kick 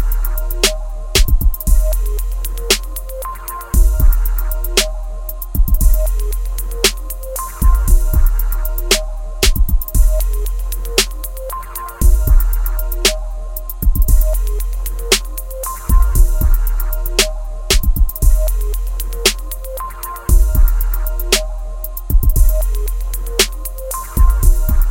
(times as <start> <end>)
1.2 1.8, 9.4 10.1, 17.7 18.4